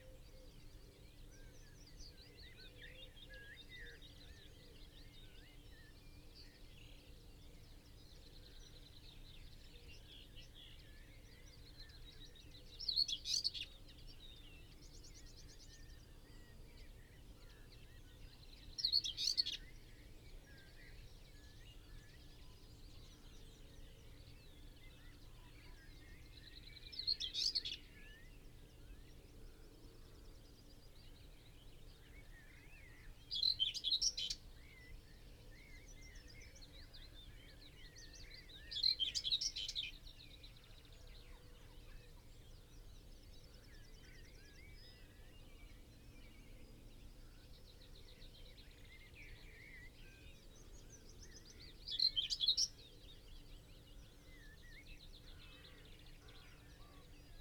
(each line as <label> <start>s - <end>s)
background noise 0.0s - 57.4s
song thrush 0.0s - 57.4s
willow warbler 8.2s - 57.4s
blackbird 31.0s - 57.4s
pheasant 31.1s - 57.4s